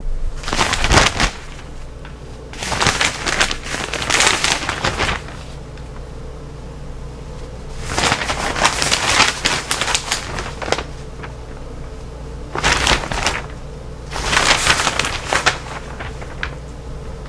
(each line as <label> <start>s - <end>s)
turn newspaper 0.1s - 6.2s
turn newspaper 7.2s - 17.2s